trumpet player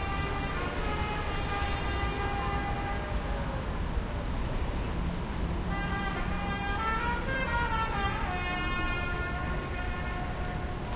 5.7s 10.9s

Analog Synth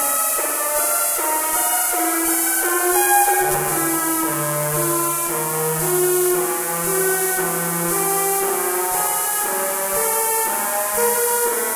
2.0s 8.0s

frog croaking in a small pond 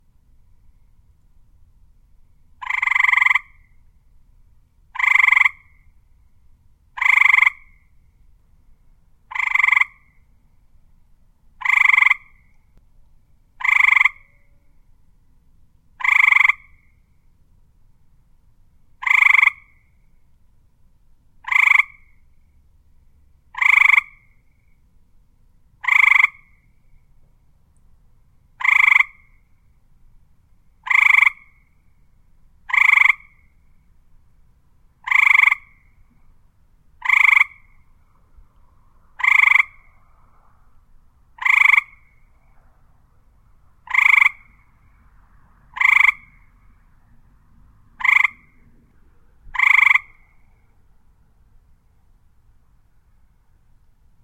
2.5s 3.9s, 4.9s 6.0s, 6.9s 8.0s, 9.2s 10.4s, 11.6s 12.7s, 13.5s 14.8s, 15.9s 17.2s, 18.9s 20.3s, 21.4s 22.6s, 23.4s 24.8s, 25.7s 27.1s, 28.4s 29.8s, 30.7s 34.0s, 34.9s 47.1s, 47.8s 48.8s, 49.4s 50.9s

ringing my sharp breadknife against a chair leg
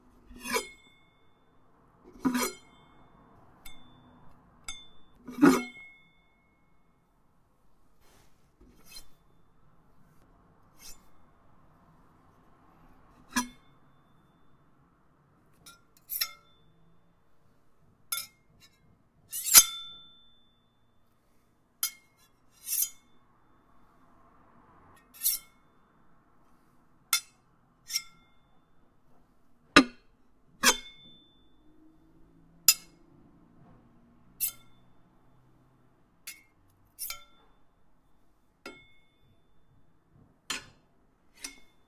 0.3s 1.2s, 2.1s 3.0s, 3.6s 6.8s, 8.6s 9.4s, 10.1s 11.2s, 13.2s 13.8s, 15.6s 16.7s, 18.1s 20.5s, 21.2s 23.2s, 29.8s 31.6s, 34.4s 34.9s, 36.3s 37.5s, 38.7s 39.1s, 40.5s 41.8s

